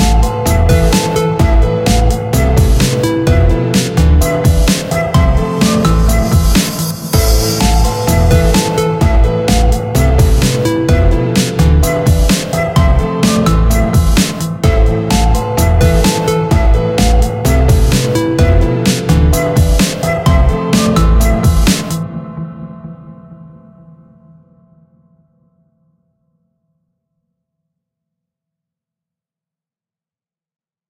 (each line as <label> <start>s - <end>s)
drumloop 0.0s - 22.0s
piano 0.0s - 26.2s